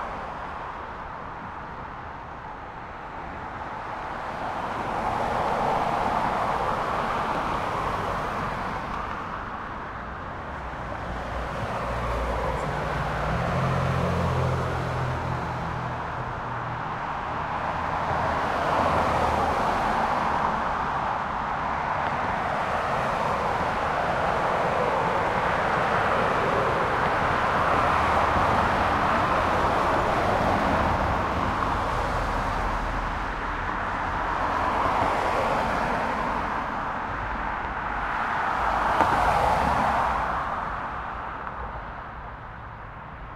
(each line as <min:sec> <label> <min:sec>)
0:00.0 Traffic Under Bridge 0:43.3